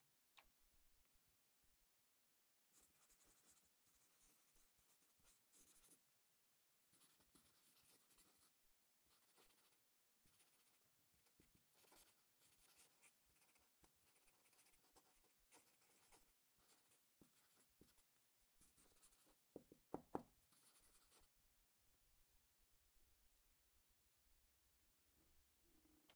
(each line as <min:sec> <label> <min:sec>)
0:02.7 Pen Scribbles 0:06.0
0:06.9 Pen Scribbles 0:21.3